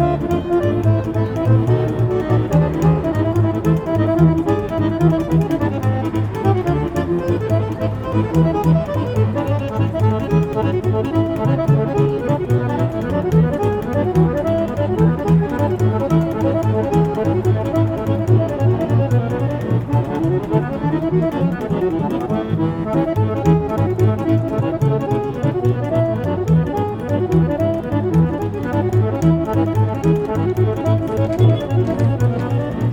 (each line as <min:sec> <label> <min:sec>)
0:00.0 Street band 0:32.9
0:00.0 pedestrians 0:32.9